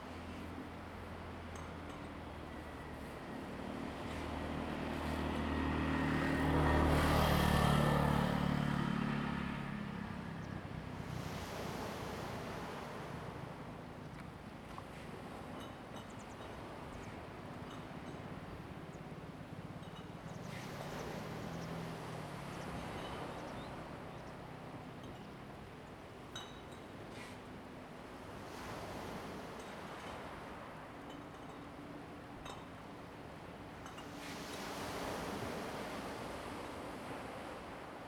waves 0:00.0 - 0:38.0
Traffic Sound 0:00.2 - 0:12.2

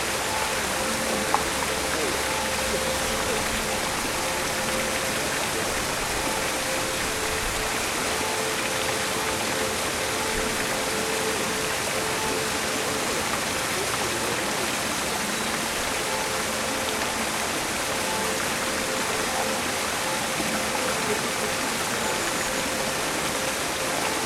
all fountains working 0:00.0 - 0:24.2

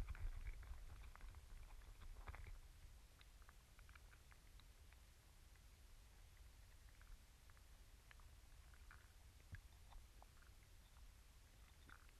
crabs in small body of water 0:00.0 - 0:12.1

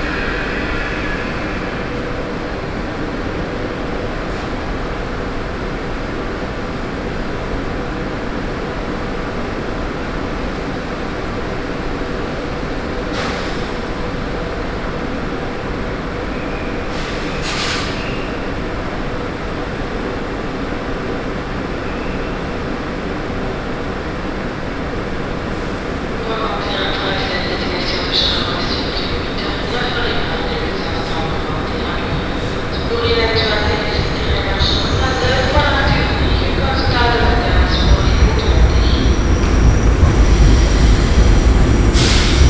trains 0:00.0 - 0:42.4
lady speaking in the microphone 0:26.2 - 0:39.1

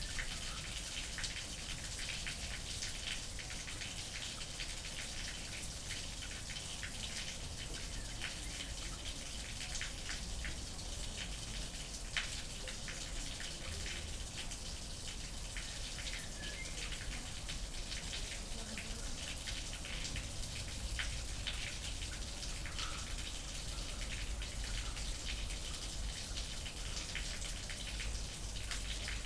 drainage into river 0:00.0 - 0:29.2

